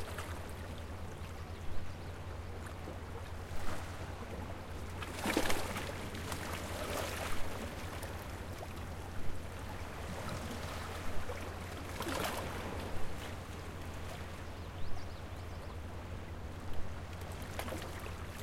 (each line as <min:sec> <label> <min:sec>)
0:05.0 Ocean water crashing and splashing between rocks 0:08.3
0:10.0 Ocean water crashing and splashing between rocks 0:13.6